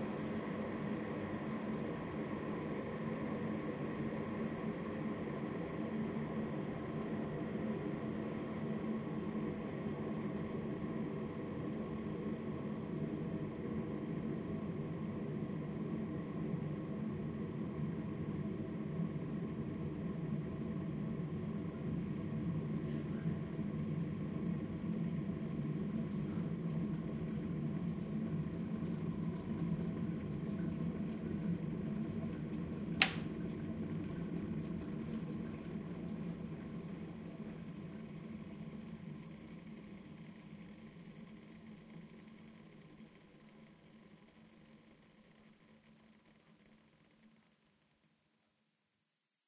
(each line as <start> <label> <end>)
0.0 Water Boiling in a Kettle 48.7
32.8 Kettle with Switch Off 34.1